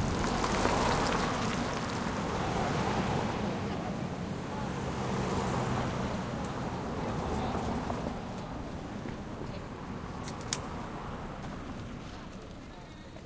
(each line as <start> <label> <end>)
0.0 Car with studs still on tires passes 8.3
0.0 Big truck with rough engine passes 8.6
0.0 Car engine passes with nice low end sound 12.6
0.0 passing traffic 13.2